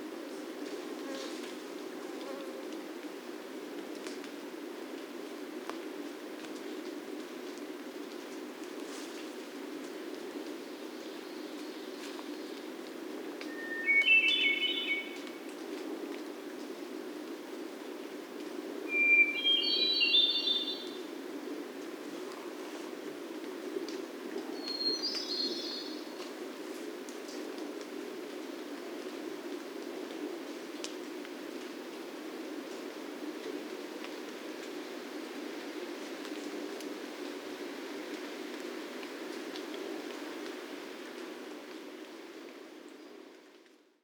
Hermit thrushes calling 13.5 - 15.2
Hermit thrushes calling 18.9 - 20.9

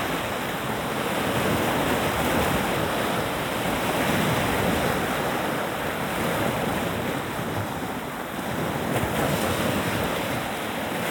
Play of the waves 0.0 - 11.1

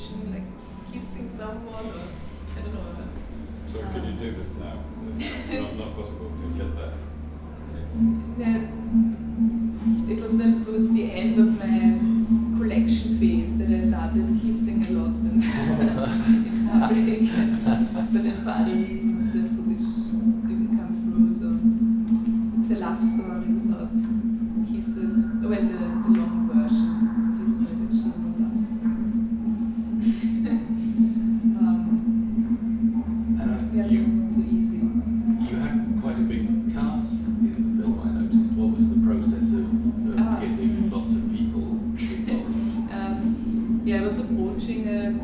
speaking 10.0 - 21.7
speaking 22.6 - 28.9
speaking 33.2 - 45.2

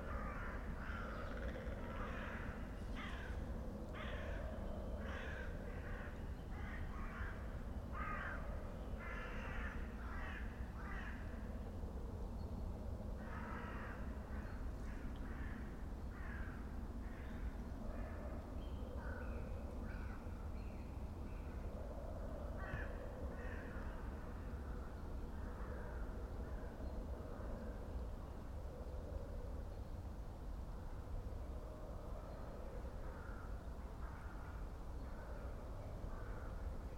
crows 0.0 - 11.5
crows 13.2 - 18.4
crows 22.5 - 24.6

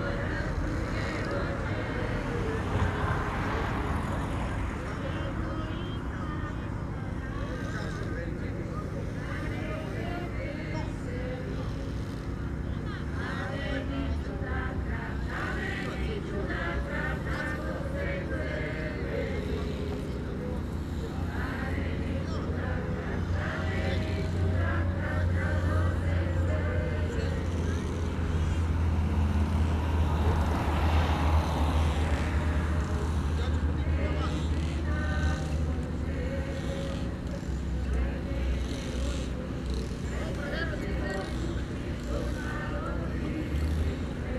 people start to sing 0.0 - 44.3
slowly passing boat 0.0 - 44.3

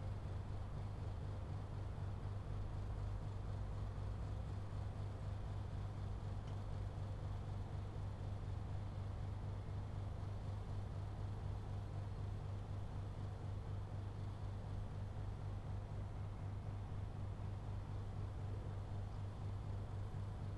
aircon of a nearby building 0.0 - 20.5

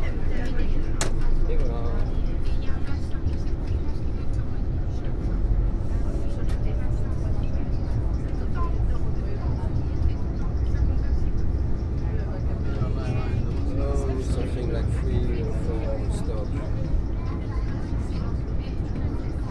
tram ride 0.0 - 19.5

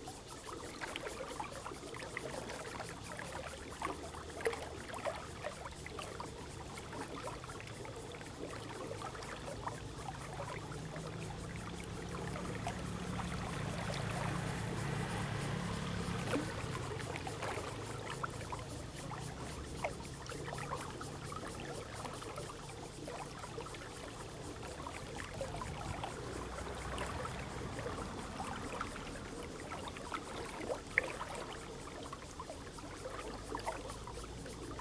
Irrigation waterway 0.0 - 34.8
Traffic Sound 10.6 - 20.2
Traffic Sound 25.3 - 29.7

